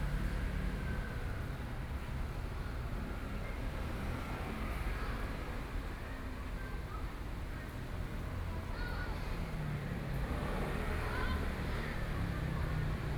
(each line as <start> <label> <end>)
8.4 traffic noise 13.1